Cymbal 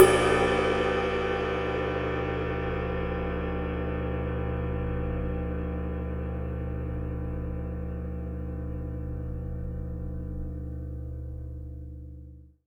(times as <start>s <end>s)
0.0s 9.0s